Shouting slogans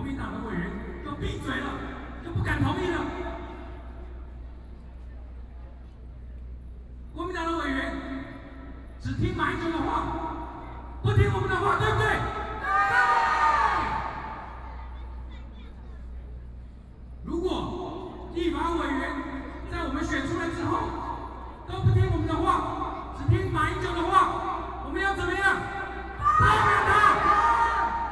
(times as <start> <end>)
11.8 14.8, 25.4 28.1